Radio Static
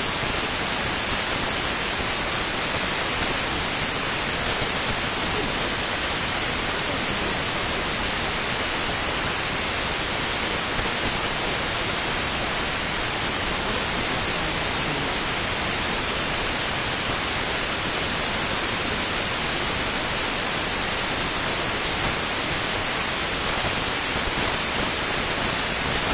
1.6 19.4

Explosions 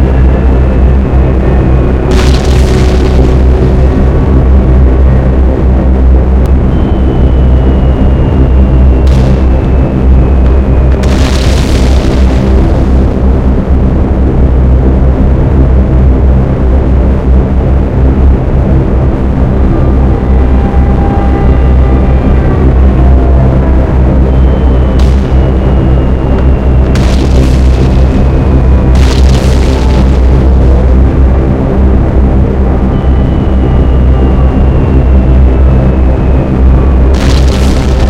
0.0 6.5, 8.9 14.7, 22.3 33.2, 36.9 38.0

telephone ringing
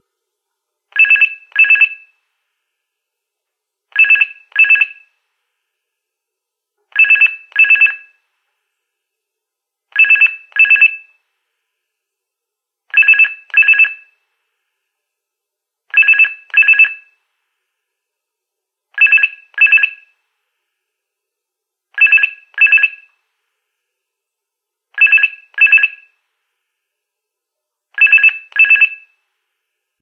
28.0 29.1

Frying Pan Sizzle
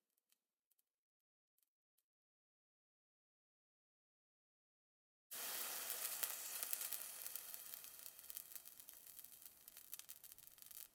5.3 10.9

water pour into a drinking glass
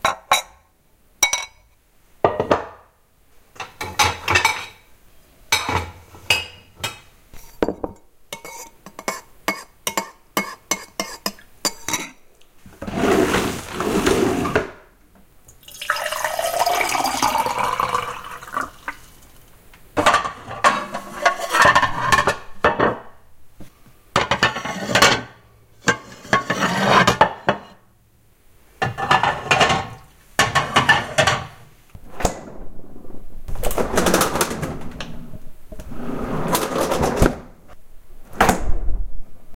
15.6 19.4

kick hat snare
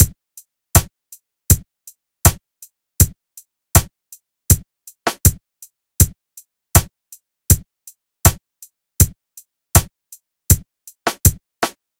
9.8 11.9

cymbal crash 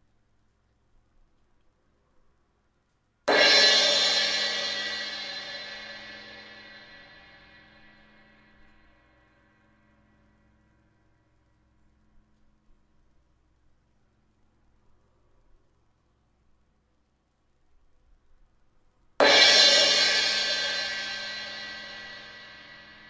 3.3 8.5, 19.2 23.0

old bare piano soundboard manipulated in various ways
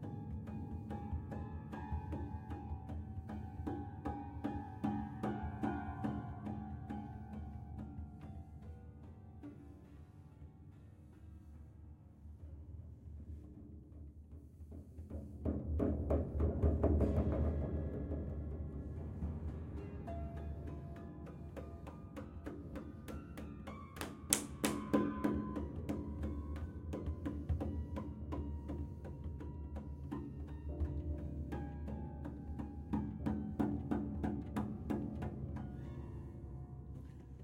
14.4 37.4

